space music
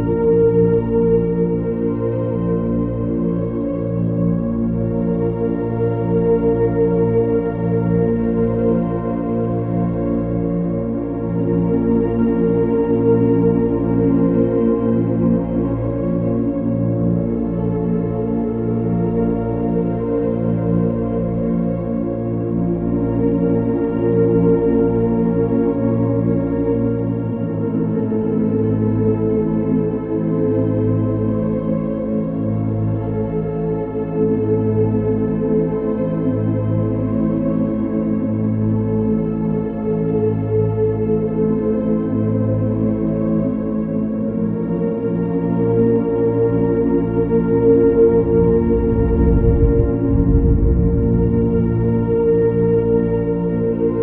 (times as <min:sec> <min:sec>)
0:46.8 0:54.0